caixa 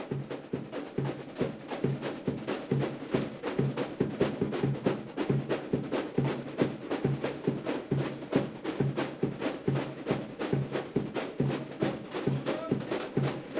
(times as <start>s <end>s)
12.3s 13.5s